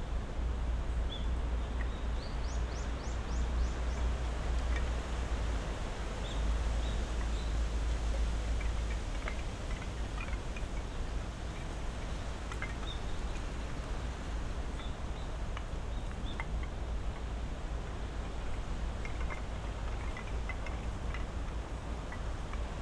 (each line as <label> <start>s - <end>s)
traffic 0.0s - 22.8s
wind blowing through high trees 0.0s - 22.8s
several species of birds 6.2s - 17.3s